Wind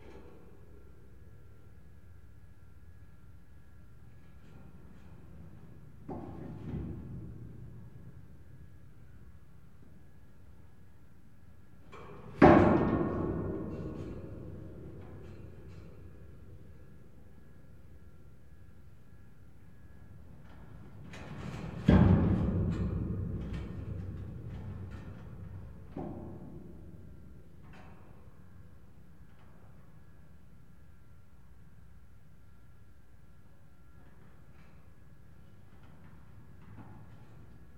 0:19.9 0:30.9

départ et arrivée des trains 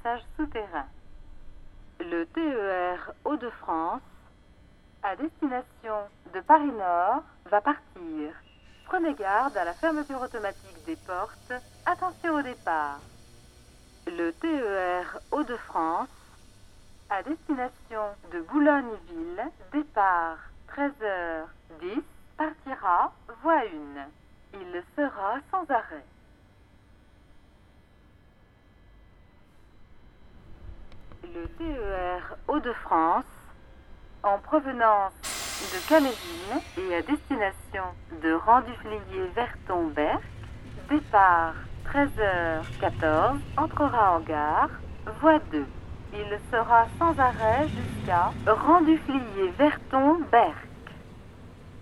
0:07.9 0:21.8, 0:30.3 0:51.8

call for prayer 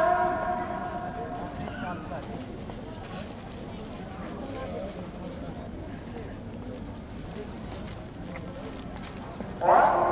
0:00.0 0:02.2, 0:09.6 0:10.1

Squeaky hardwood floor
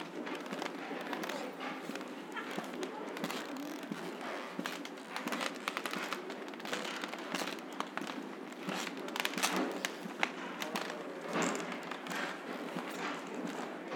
0:00.2 0:10.0

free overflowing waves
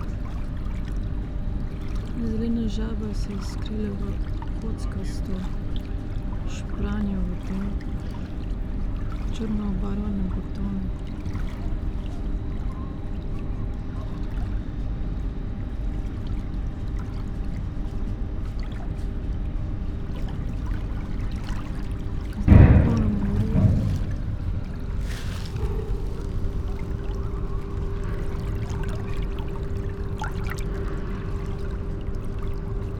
0:01.7 0:13.3, 0:19.9 0:32.9

